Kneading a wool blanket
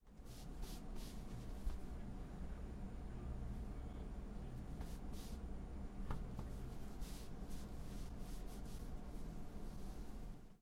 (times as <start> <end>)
6.9 10.1